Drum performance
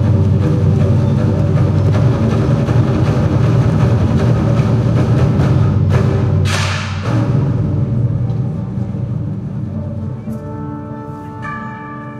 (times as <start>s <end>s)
0.0s 9.4s